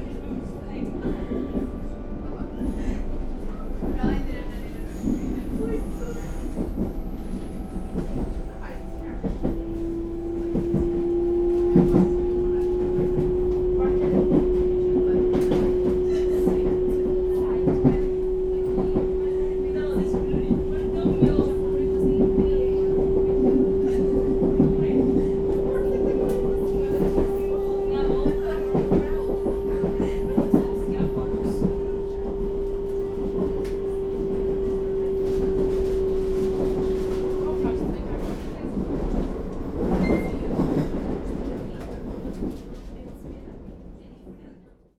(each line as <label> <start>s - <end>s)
train departing 0.0s - 44.4s